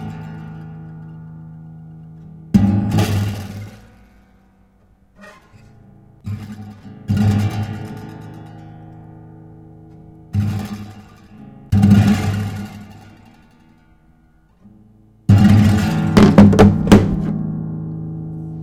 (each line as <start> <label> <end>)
15.3 Dropping smartphones on the strings of a guitar 17.4